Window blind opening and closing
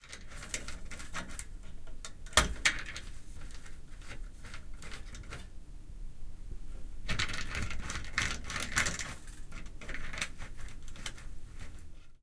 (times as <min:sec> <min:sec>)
0:07.1 0:12.1